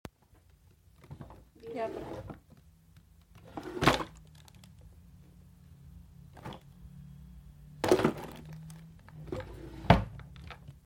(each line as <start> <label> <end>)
1.1 Closing a drawer 2.4
3.4 Closing a drawer 4.2
7.8 Closing a drawer 10.7